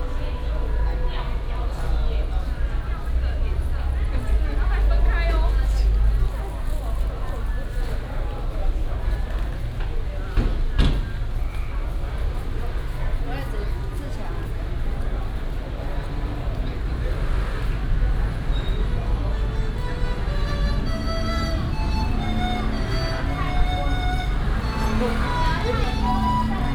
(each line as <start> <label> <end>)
0.0 Traffic sound 26.7
0.0 old Street artist 26.7